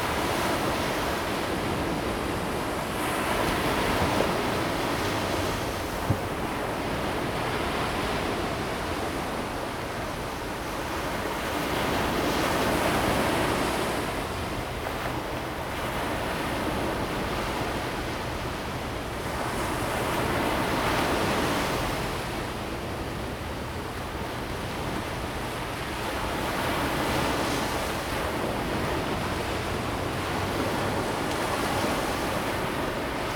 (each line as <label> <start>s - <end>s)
waves 0.0s - 33.3s